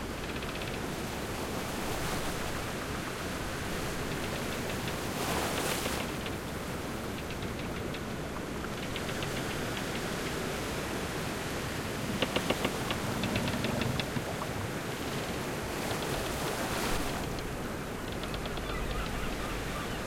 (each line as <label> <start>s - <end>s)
Pirate Ship at Bay 0.0s - 20.0s
ocean 0.0s - 20.0s